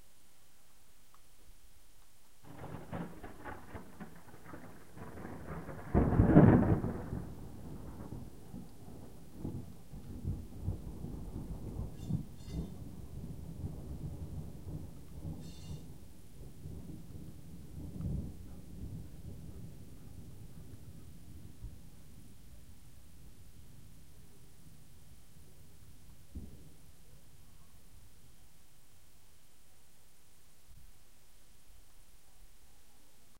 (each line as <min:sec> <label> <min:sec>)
0:00.0 rainstorm 0:33.3
0:02.4 Huge thunder 0:22.6